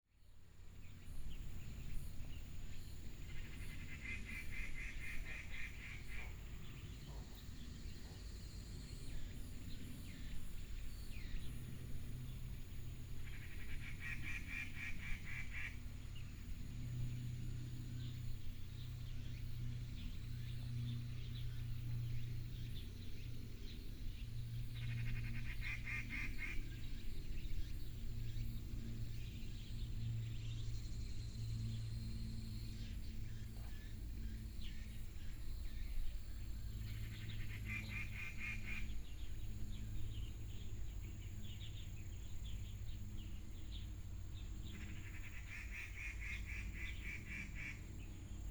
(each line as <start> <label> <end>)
0.1 plane 48.5
3.1 Birds call 17.3
18.0 Birds call 30.2
36.8 Birds call 48.5